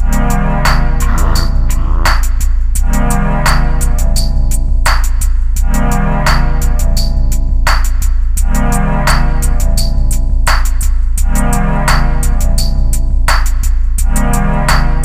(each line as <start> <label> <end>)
1.0 Synth 2.2